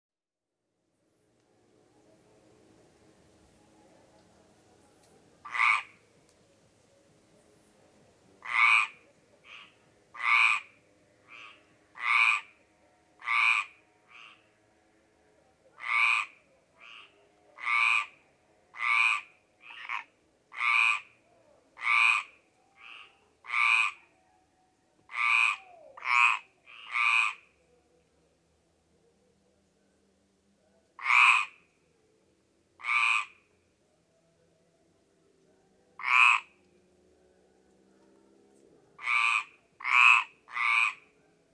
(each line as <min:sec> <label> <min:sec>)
0:05.4 Nocturnal concerto of common frogs 0:06.0
0:08.4 Nocturnal concerto of common frogs 0:14.9
0:15.7 Nocturnal concerto of common frogs 0:24.2
0:25.1 Nocturnal concerto of common frogs 0:27.7
0:30.9 Nocturnal concerto of common frogs 0:31.7
0:32.8 Nocturnal concerto of common frogs 0:33.6
0:36.0 Nocturnal concerto of common frogs 0:36.7
0:38.9 Nocturnal concerto of common frogs 0:41.5